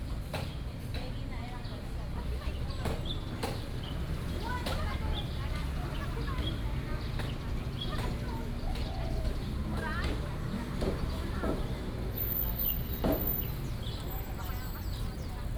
5.2s Traffic Sound 15.5s
12.1s Bird calls 15.5s

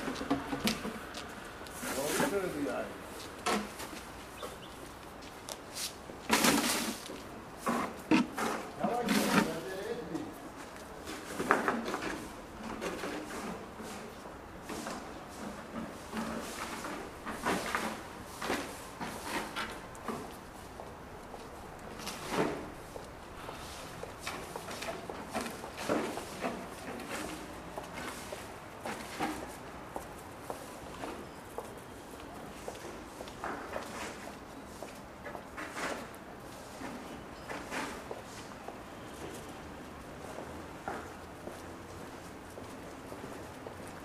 0.0s road sweepers 44.0s
11.0s home delivery courier 20.7s

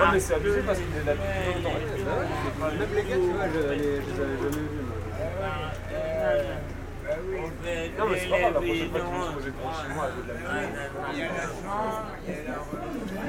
0.0s visitors are walking along the bars and the restaurants 13.2s

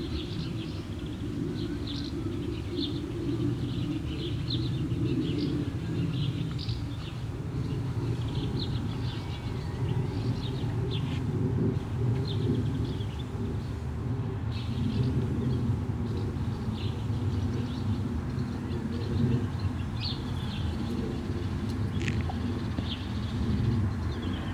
0.0s birds in the trees 24.5s
0.0s light street traffic 24.5s
4.8s plane in the sky 6.4s
10.8s plane in the sky 19.4s

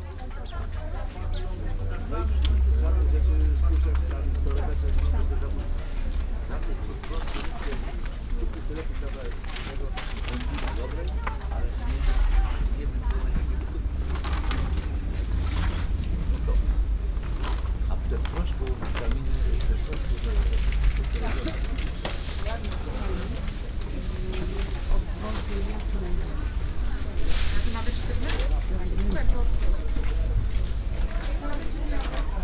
0.0s people talking 32.4s
0.0s vendors touting their goods, joking with customers 32.4s
0.0s walking around stalls 32.4s

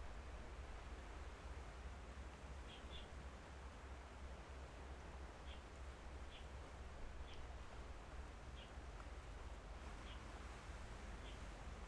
7.5s waves 11.8s

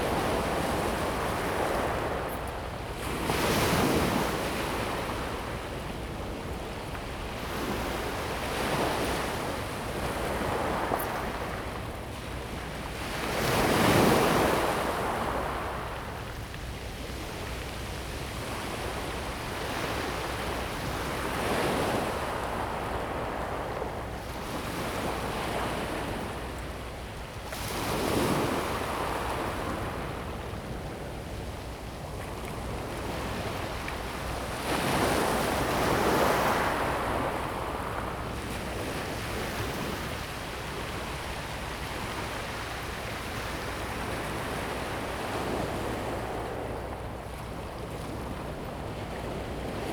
0.0s waves 49.9s

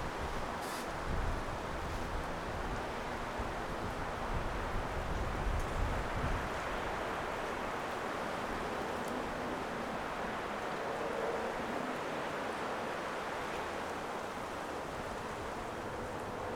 0.0s wind in trees 16.5s

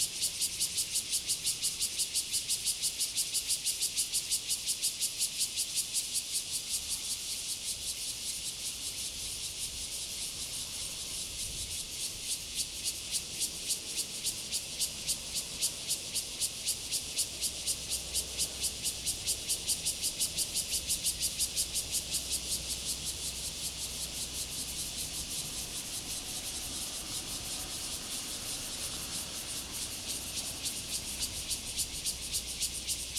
0.0s Cicadas sound 33.1s
21.6s Traffic Sound 33.1s

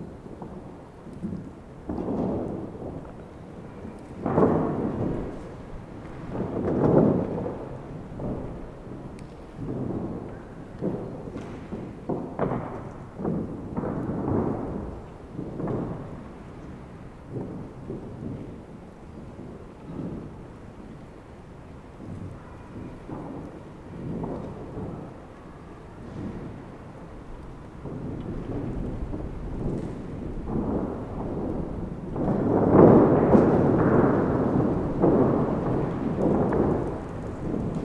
0.0s wind through a decaying geodesic dome 37.8s

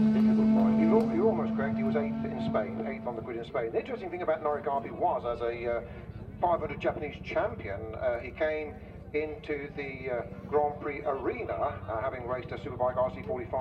0.0s commentary 13.6s
0.0s world superbikes 13.6s

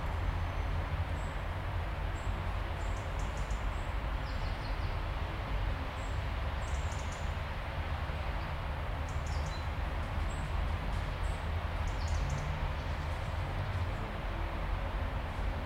0.0s noises street 15.6s
2.1s birds 5.1s
5.9s birds 7.4s
8.4s birds 10.5s
11.1s birds 14.1s

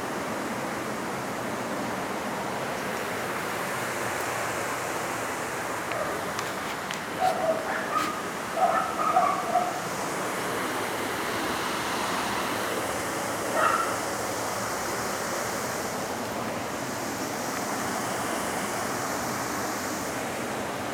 5.9s small barking dogs 6.3s
7.2s small barking dogs 9.8s
13.5s small barking dogs 14.0s

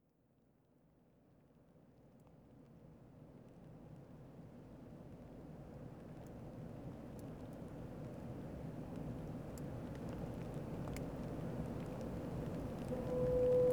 6.0s rain 13.7s
12.8s Foghorn 13.7s

